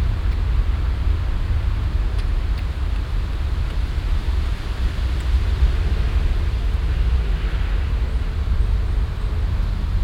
Windböe in den Bäumen 0:00.0 - 0:10.0

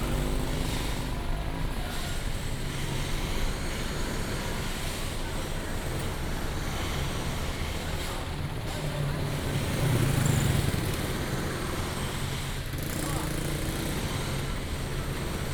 Traffic Sound 0:00.0 - 0:15.5

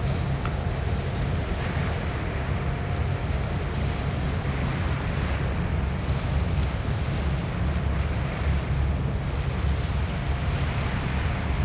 passing pilot boat 0:00.0 - 0:11.6

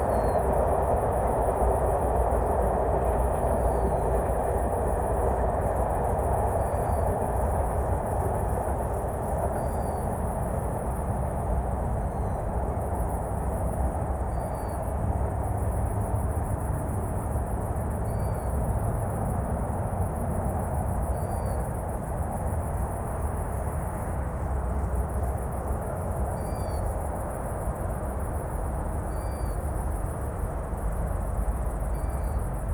distant traffic 0:00.0 - 0:32.7
insects 0:00.0 - 0:32.7
trains 0:00.0 - 0:32.7

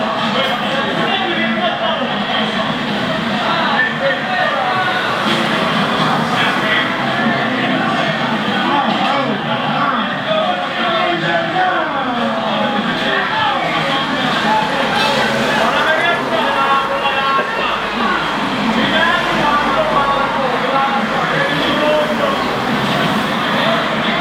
energic big cities 0:00.0 - 0:24.2

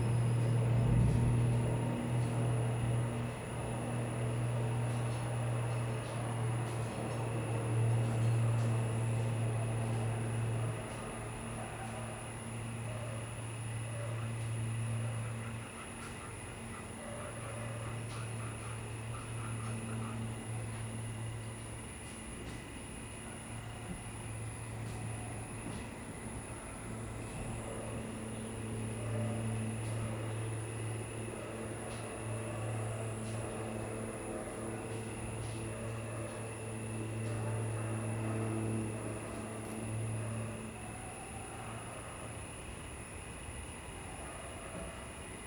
insects 0:00.0 - 0:45.4
Dogs barking 0:10.6 - 0:20.8
Dogs barking 0:31.3 - 0:42.5
Dogs barking 0:44.0 - 0:45.2

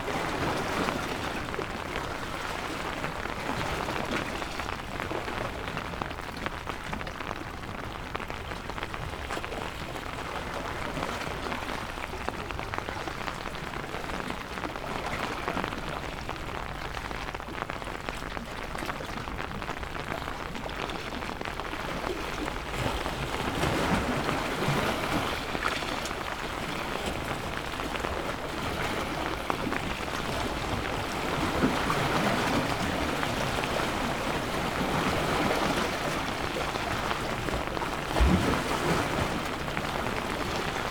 rain 0:00.0 - 0:40.9

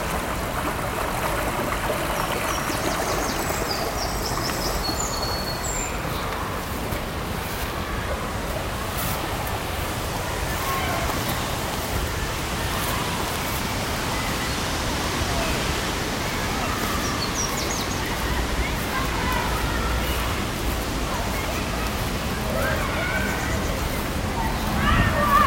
children in the background 0:00.0 - 0:25.4
lippe river 0:00.0 - 0:25.4

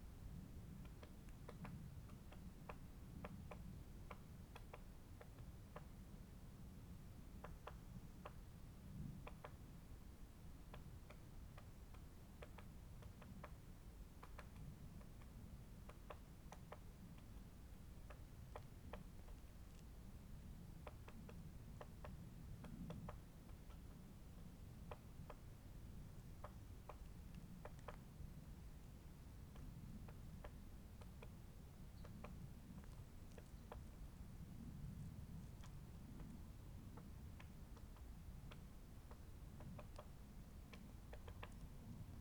great spotted woodpecker 0:00.0 - 0:42.2

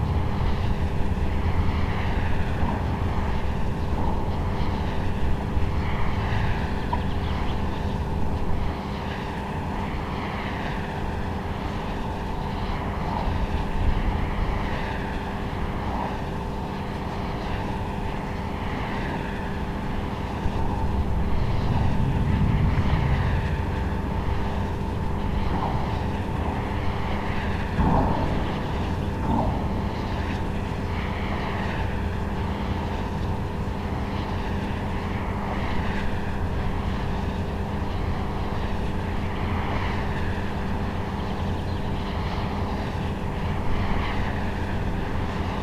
wind turbine 0:00.0 - 0:45.6

